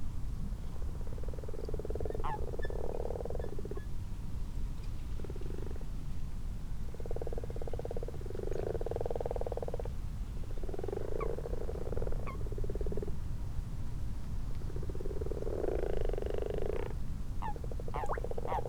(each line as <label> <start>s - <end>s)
common frogs 0.7s - 4.0s
common toads 0.8s - 3.9s
common toads 5.2s - 5.9s
common frogs 5.2s - 6.0s
common frogs 6.7s - 13.3s
common toads 6.9s - 13.2s
common frogs 14.5s - 18.6s
common toads 14.6s - 18.6s